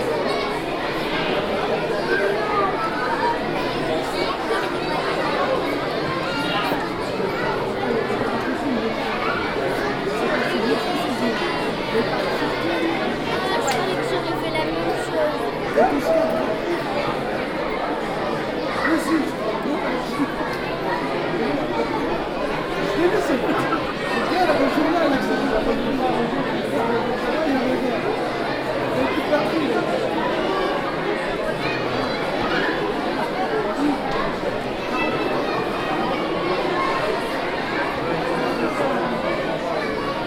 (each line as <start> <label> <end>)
0.0 children 40.2
0.0 crowd 40.2